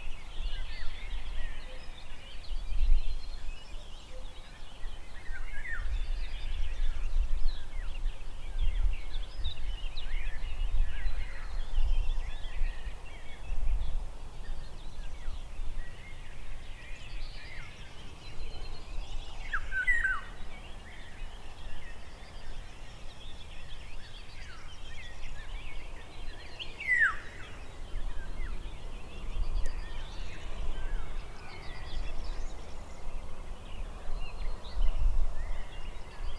birds 0.0 - 36.3
river 14.1 - 36.3

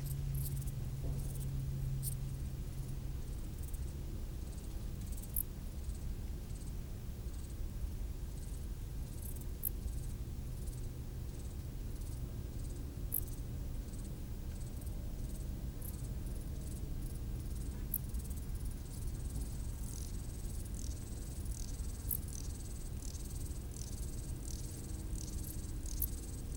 stridulations des criquets sur le talus 4.5 - 6.0
stridulations des criquets sur le talus 14.7 - 26.5

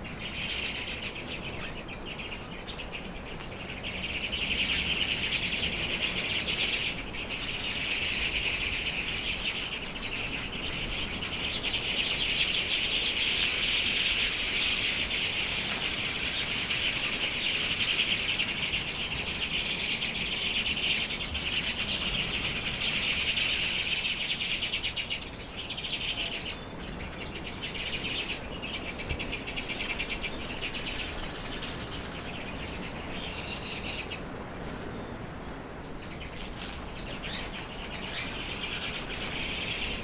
birds in a tree 0.0 - 40.0

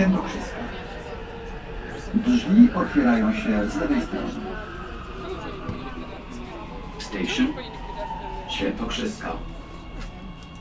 metro line 0.0 - 10.6

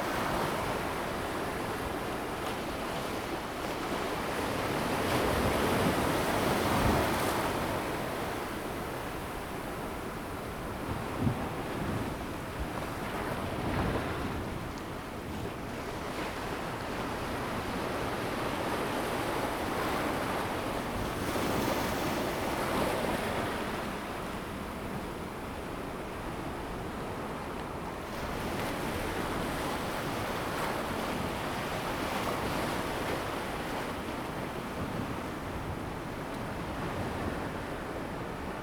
The sea is slowly rising tide 0.0 - 38.6

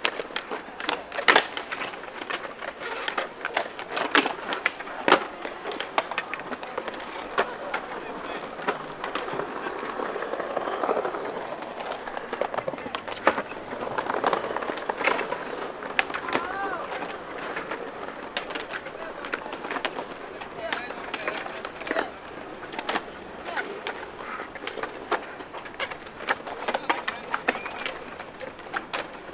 Skaters rolling 0.0 - 29.3
shouts 16.2 - 17.0

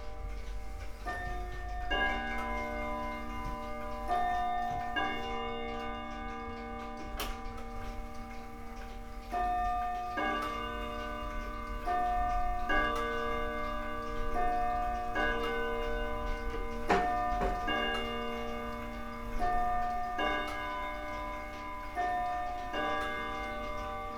clocks and their sounds 0.0 - 24.1

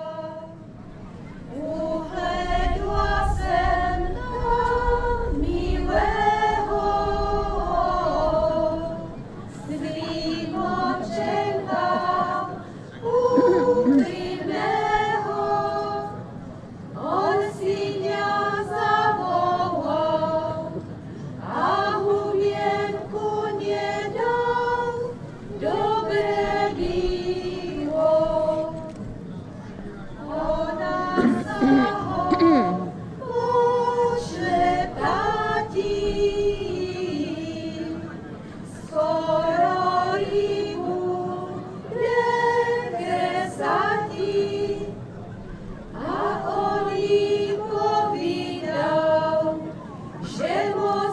people from several villages around singing and dancing 0.0 - 51.1

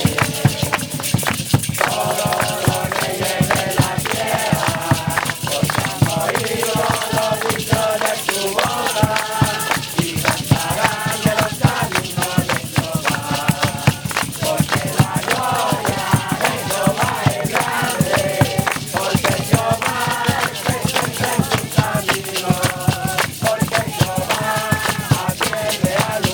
youth with mission evangelise and sing another song 0.0 - 26.3

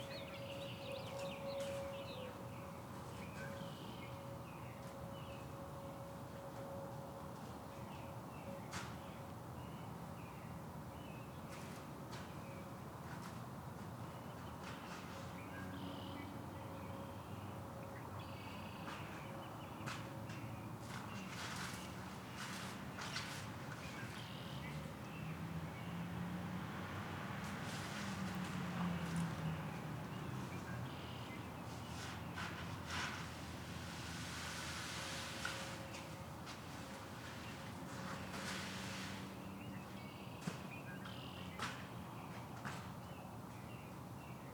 aircraft 0.0 - 15.7
aircraft 16.4 - 44.5
passing cars 24.3 - 35.9

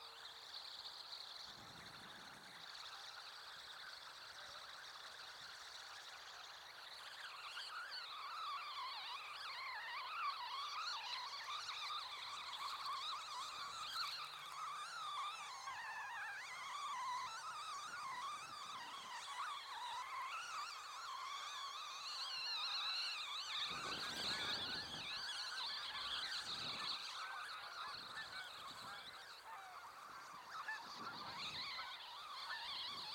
Geese 0.0 - 33.1

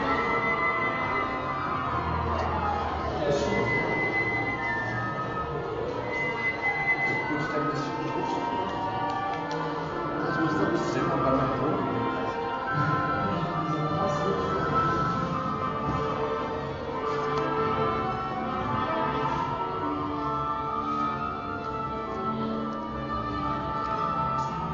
Orchesters stimmt seine Instrumente 0.0 - 24.7

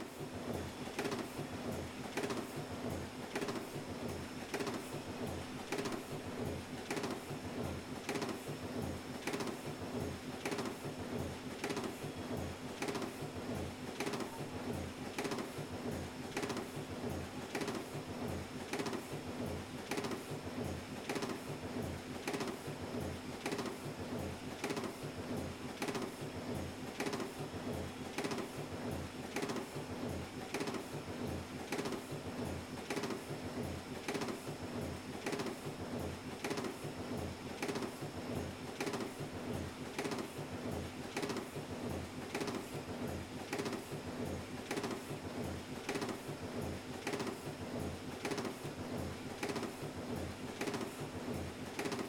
old printing press 0.0 - 52.0

